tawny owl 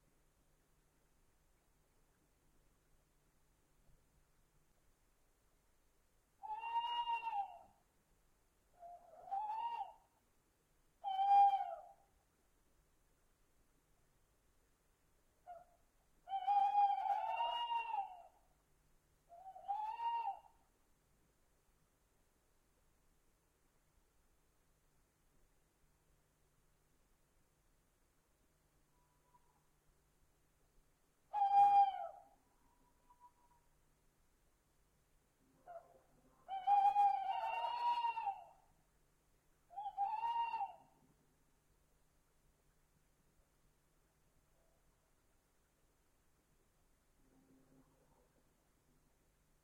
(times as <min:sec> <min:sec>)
0:06.4 0:07.9, 0:08.7 0:10.2, 0:11.0 0:12.2, 0:15.4 0:18.5, 0:19.3 0:20.7, 0:28.9 0:29.8, 0:31.3 0:33.8, 0:35.4 0:38.8, 0:39.7 0:41.2